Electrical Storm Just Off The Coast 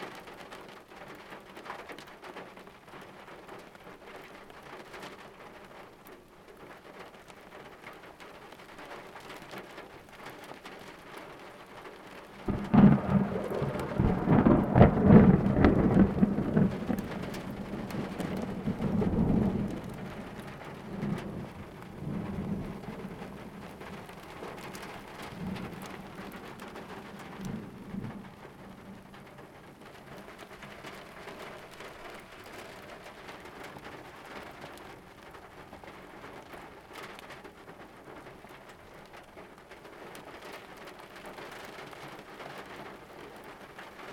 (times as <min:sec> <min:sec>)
0:12.3 0:38.2